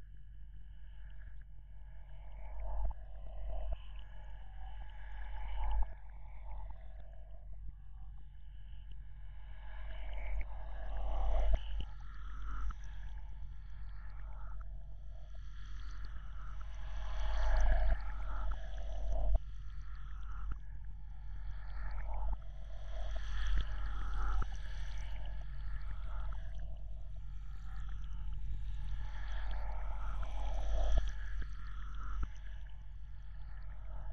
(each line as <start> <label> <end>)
9.3 drone 34.1